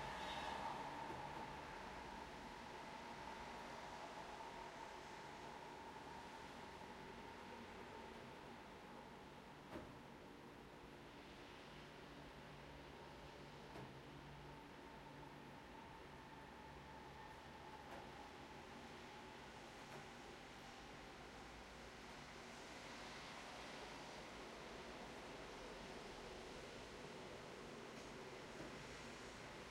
0.0s mild traffic noises 29.7s

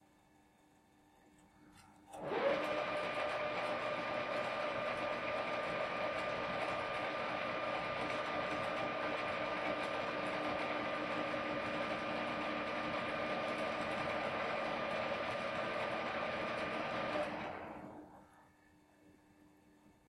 2.1s lathe 18.1s

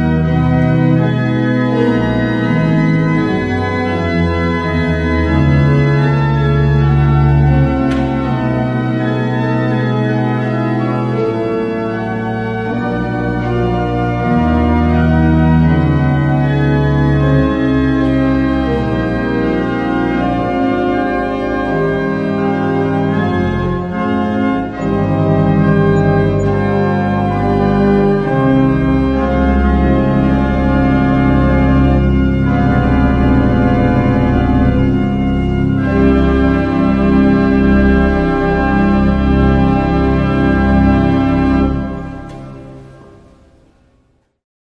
0.0s psalm 43.8s

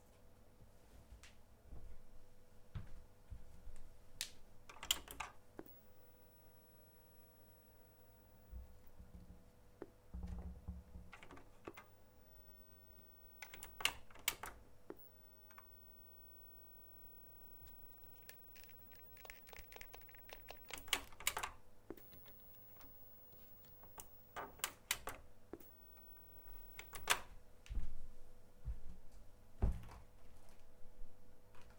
11.2s noises from my broken TV set 27.3s

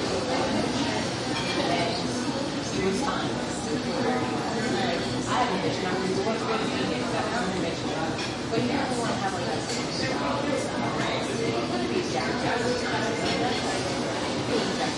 0.0s kitchen sounds 14.9s
0.0s people chatter 14.9s
1.2s dishes 2.0s
8.1s dishes 8.6s
13.1s dishes 13.7s

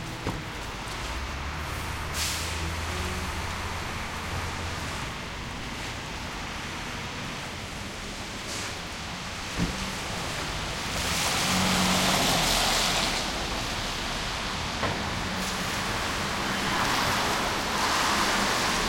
0.0s traffic 18.8s

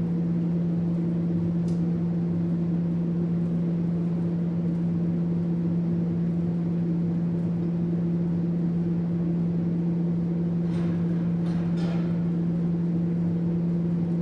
0.0s activation of two exhaust fans 14.2s
10.6s a couple tacks of the welder 12.4s

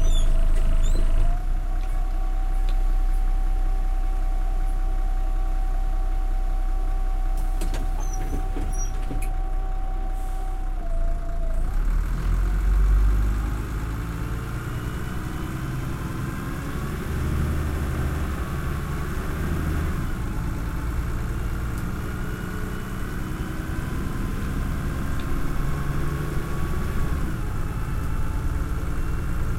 0.0s Bus 29.5s

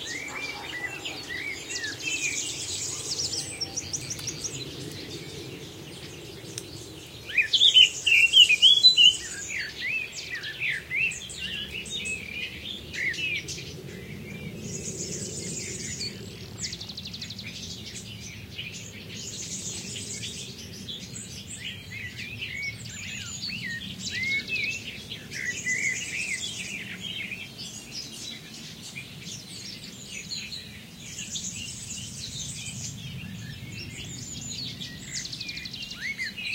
0.0s dogs barking 1.8s
0.0s hoopoe 4.2s
0.0s blackcap 5.2s
0.0s occasional planes overheading 36.5s

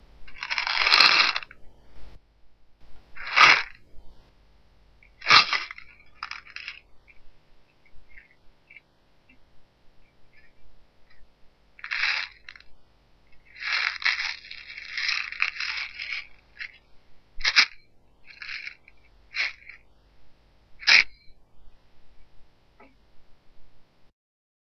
0.3s Shook some vitamins 1.6s
11.8s Shook some vitamins 12.7s
13.4s Shook some vitamins 16.8s
17.4s Shook some vitamins 19.8s

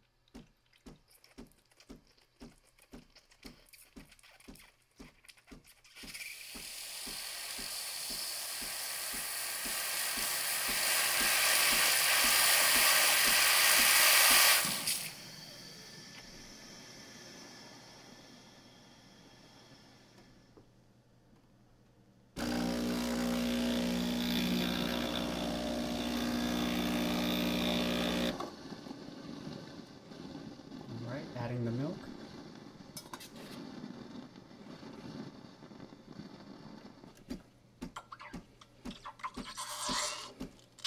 6.0s steaming milk on the espresso machine 20.5s
22.4s steaming milk on the espresso machine 37.4s

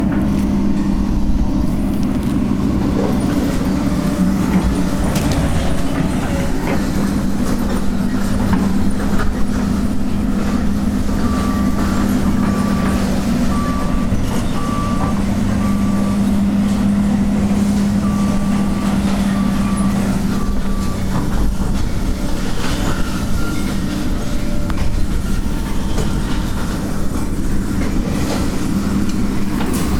0.0s Machines 29.9s

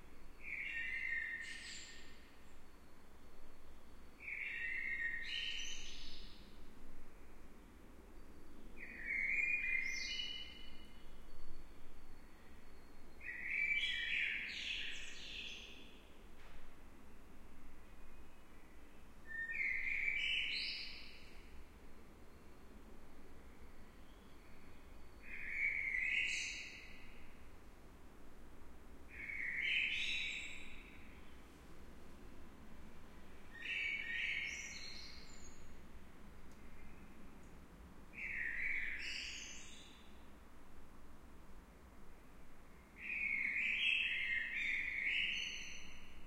12.8s Blackbird singing 15.9s
25.2s Blackbird singing 27.1s
29.2s Blackbird singing 31.1s
33.6s Blackbird singing 35.7s
38.2s Blackbird singing 40.0s
43.0s Blackbird singing 46.2s

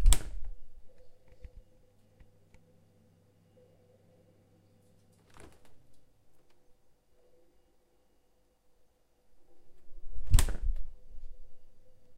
0.0s fridge door opening and closing 0.6s
10.1s fridge door opening and closing 10.9s

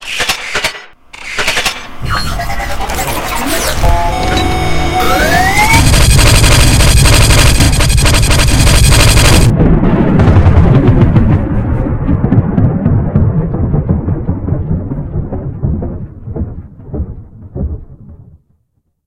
3.0s pulse cannon 18.2s

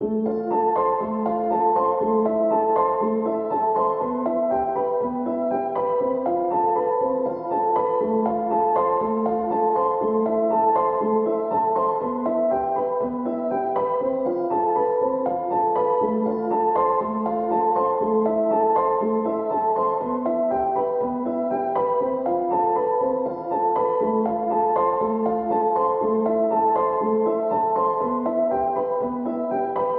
0.0s piano 29.9s

